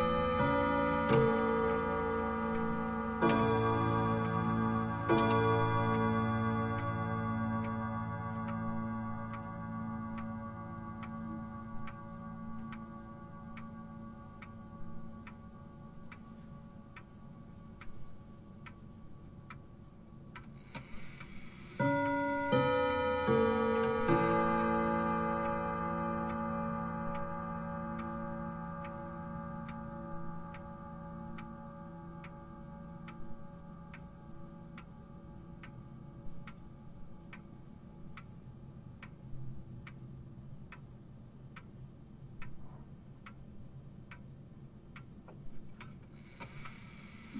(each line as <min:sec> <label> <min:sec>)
0:00.0 Grandfather Clock - Westminster chimes 0:39.2